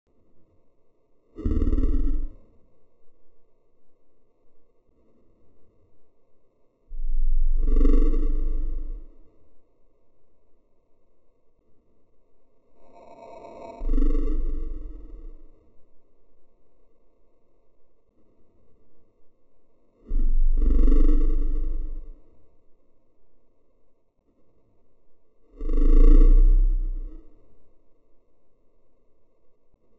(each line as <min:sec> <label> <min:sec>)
0:01.3 growl 0:02.7
0:06.9 growl 0:09.5
0:12.8 growl 0:15.8
0:20.0 growl 0:22.6
0:25.4 growl 0:27.7